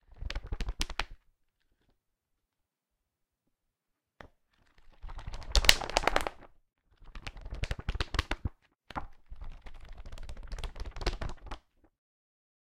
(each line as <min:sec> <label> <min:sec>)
0:04.6 Book Pages flipping 0:11.7